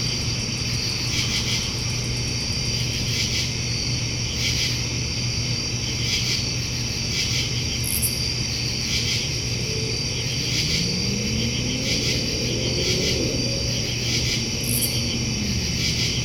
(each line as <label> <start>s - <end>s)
crickets 0.0s - 16.2s
hum of an AC fan 0.0s - 16.2s
Cars 9.9s - 16.2s